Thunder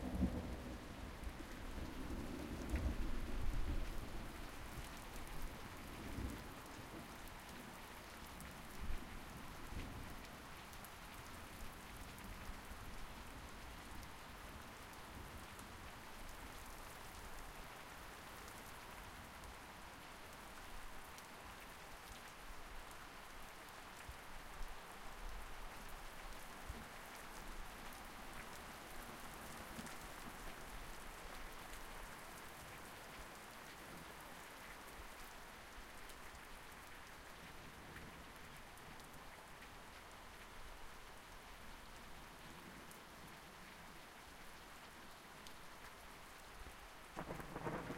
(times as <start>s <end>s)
47.2s 47.9s